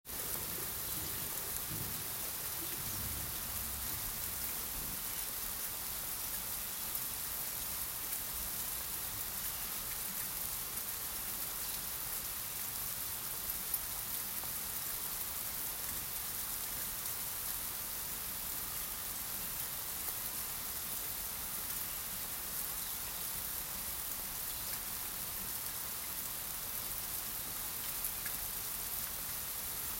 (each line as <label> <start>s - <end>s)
wind 0.0s - 29.9s
Heavy Rain 0.1s - 29.9s
thunder 0.4s - 5.0s